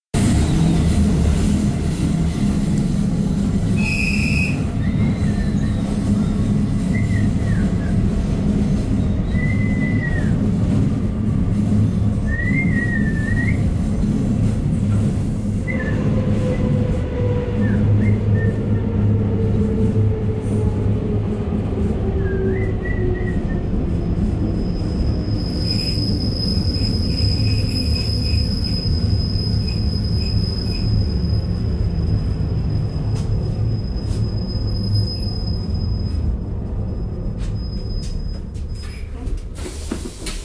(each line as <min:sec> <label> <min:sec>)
0:00.0 wind 0:40.4
0:00.1 motor train 0:40.4
0:03.8 whistle 0:05.9
0:06.8 whistle 0:08.0
0:09.0 whistle 0:10.4
0:12.2 whistle 0:13.7
0:15.6 whistle 0:16.1
0:17.6 whistle 0:18.7
0:22.2 whistle 0:23.7